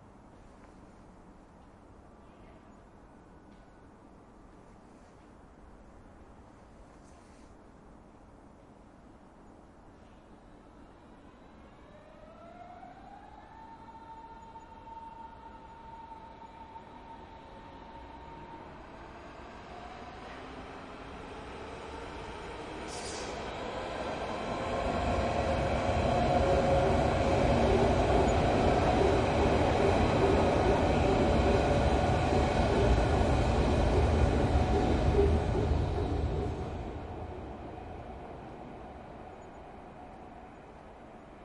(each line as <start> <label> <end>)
9.9 Trains pass over a metal bridge 41.4